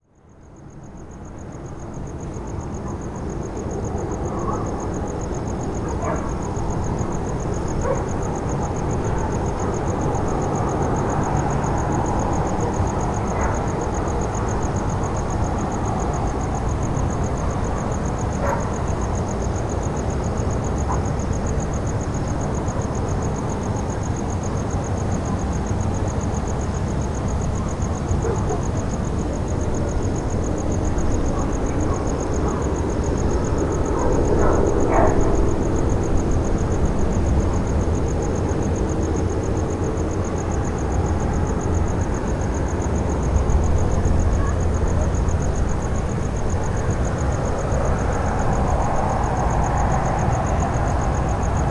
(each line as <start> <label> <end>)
0.0 crickets 51.7
0.9 distant traffic 51.7
5.9 dogs barking 6.3
7.8 dogs barking 8.1
12.6 dogs barking 14.0
18.4 dogs barking 18.8
28.2 dogs barking 28.7
33.8 dogs barking 35.5